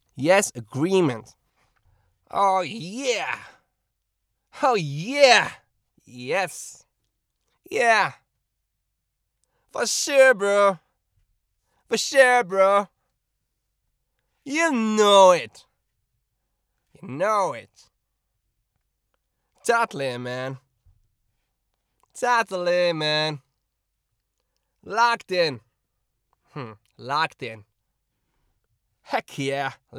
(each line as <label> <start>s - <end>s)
Surfer like voice pack 0.2s - 1.3s
Surfer like voice pack 2.3s - 3.5s
Surfer like voice pack 4.6s - 6.8s
Surfer like voice pack 7.7s - 8.1s
Surfer like voice pack 9.8s - 10.8s
Surfer like voice pack 14.5s - 15.5s
Surfer like voice pack 17.0s - 17.6s
Surfer like voice pack 24.9s - 25.6s